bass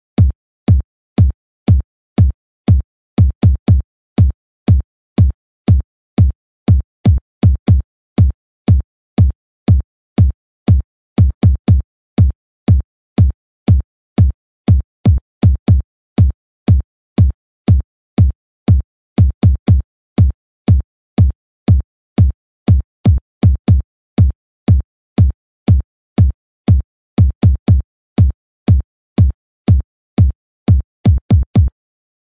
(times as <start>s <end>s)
24.7s 31.8s